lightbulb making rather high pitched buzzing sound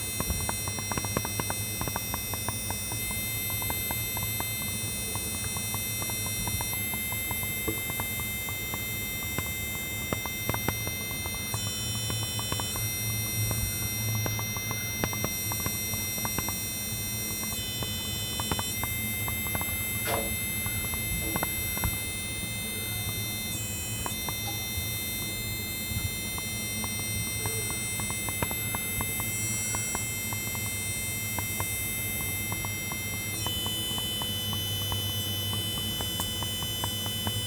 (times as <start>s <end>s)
10.2s 37.4s